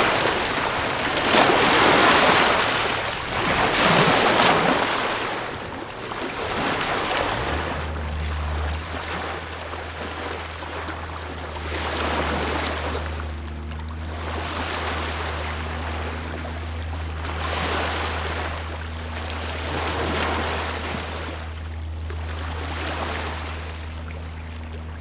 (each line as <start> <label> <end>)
0.0 a lot of waves 24.2
0.0 barge is passing 25.0